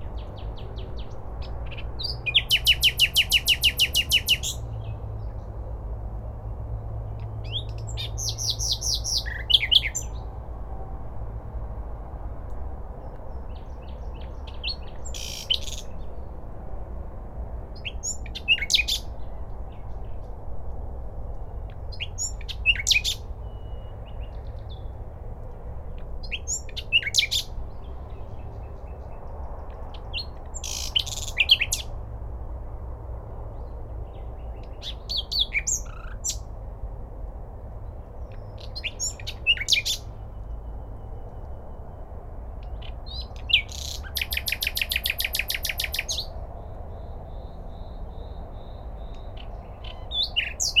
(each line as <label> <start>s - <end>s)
midnight nightingales 0.0s - 5.5s
midnight nightingales 7.2s - 10.3s
midnight nightingales 13.0s - 16.3s
midnight nightingales 17.8s - 20.2s
midnight nightingales 21.7s - 24.9s
midnight nightingales 26.2s - 31.9s
midnight nightingales 33.6s - 36.5s
midnight nightingales 38.2s - 50.8s